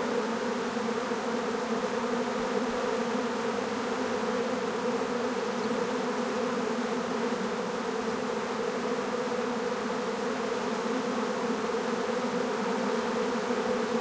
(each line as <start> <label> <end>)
0.0 Black-bees swarm on a branch 14.0